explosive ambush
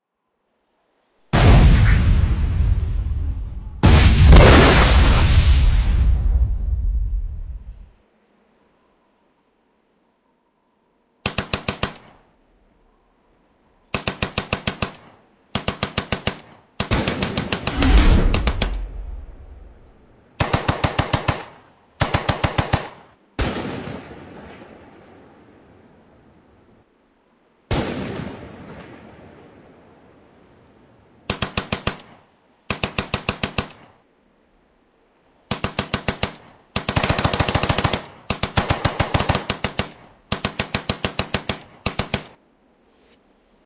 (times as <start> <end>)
1.3 7.9, 16.8 20.5